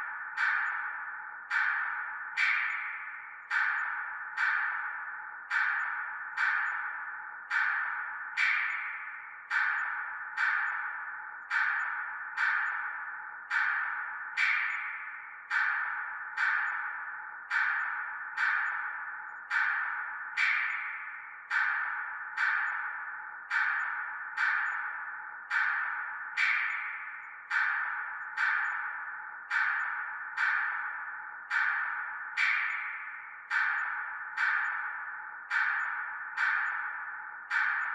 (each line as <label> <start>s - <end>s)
reverbed paultretched click track 0.0s - 37.9s